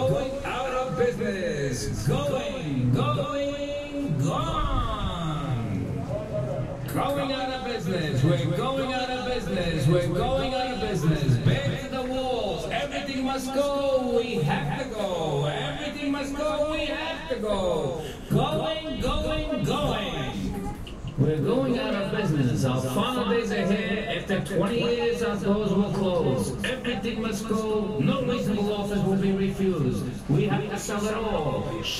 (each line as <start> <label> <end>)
0.0 public address system 31.9